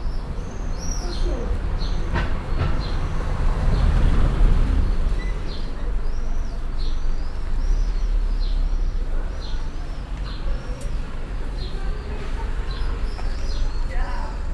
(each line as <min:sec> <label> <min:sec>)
0:00.0 birds 0:14.5
0:01.1 car passing 0:14.5
0:11.6 people chatting 0:14.5